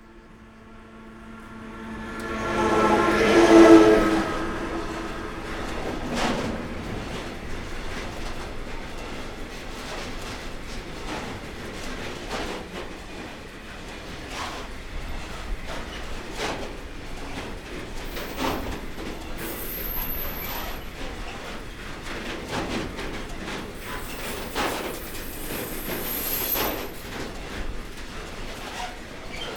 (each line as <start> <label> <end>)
0.0 locomotive going down 10.3
0.0 Cargo train going up the hill 29.5